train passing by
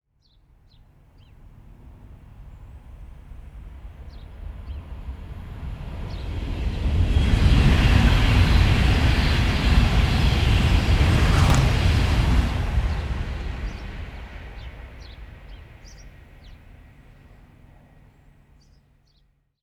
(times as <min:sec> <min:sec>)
0:05.3 0:15.8